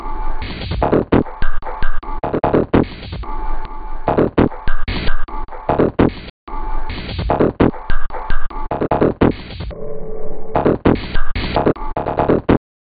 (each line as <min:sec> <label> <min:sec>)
0:00.0 Drum Loop 0:09.7
0:10.6 Drum Loop 0:12.6